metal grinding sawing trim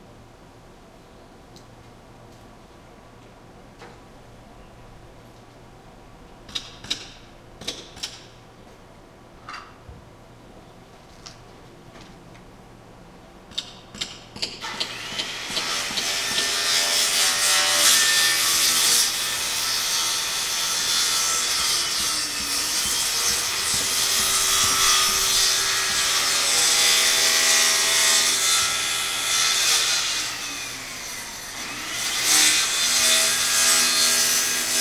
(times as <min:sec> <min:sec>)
0:14.7 0:34.8